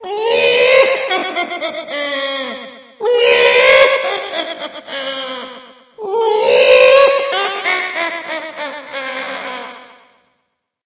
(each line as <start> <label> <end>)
0.8 manic laugh 2.6
3.6 manic laugh 5.7
7.0 manic laugh 10.0